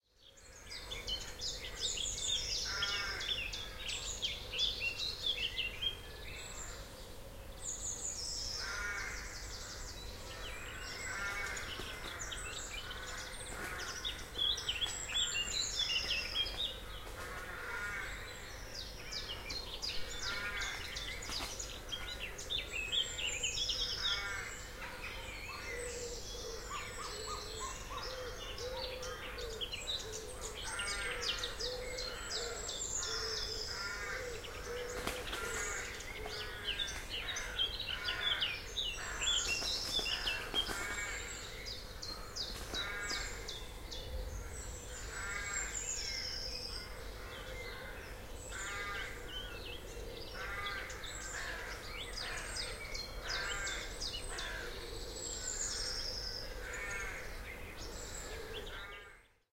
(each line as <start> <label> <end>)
2.6 Noisy Crows 3.8
8.6 Noisy Crows 14.1
17.0 Noisy Crows 18.6
20.1 Noisy Crows 21.0
23.9 Noisy Crows 29.6
30.4 Noisy Crows 43.5
34.9 bird flapping 35.8
39.6 bird flapping 41.1
44.9 Noisy Crows 45.8
46.8 Noisy Crows 49.5
50.3 Noisy Crows 57.4